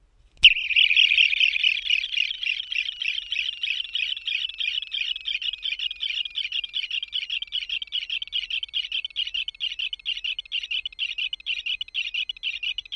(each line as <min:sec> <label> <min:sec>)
0:00.4 Sci-fi sounding noise 0:05.7